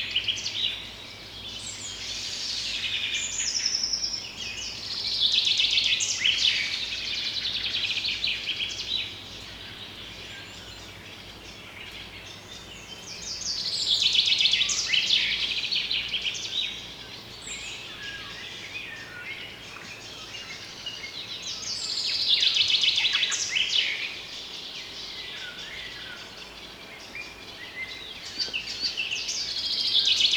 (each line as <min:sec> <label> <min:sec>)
0:00.0 Birds singing contest 0:30.3